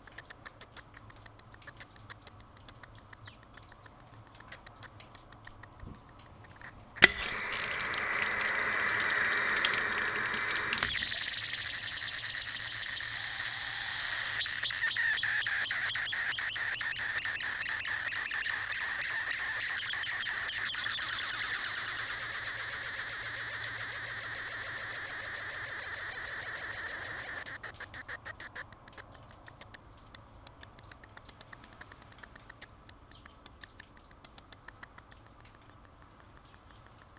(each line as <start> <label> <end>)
7.0 Foot shower 11.1